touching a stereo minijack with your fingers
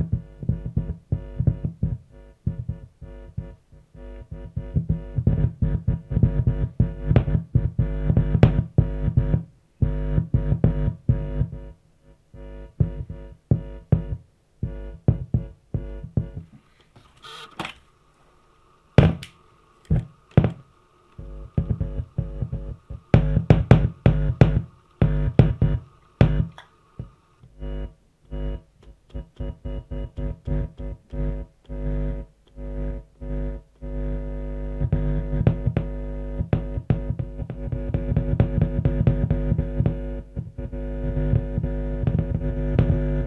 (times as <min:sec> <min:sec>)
0:21.2 0:43.2